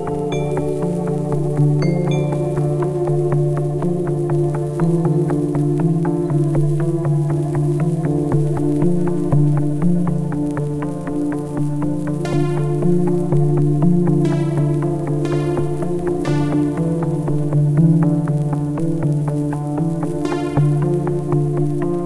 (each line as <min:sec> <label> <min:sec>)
0:00.0 synths 0:22.0